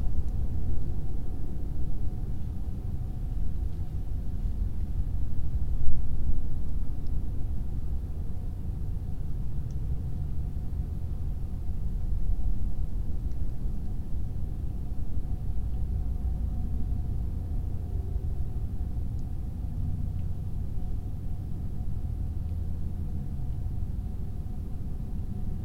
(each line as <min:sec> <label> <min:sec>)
0:00.0 hum of distant traffic 0:25.6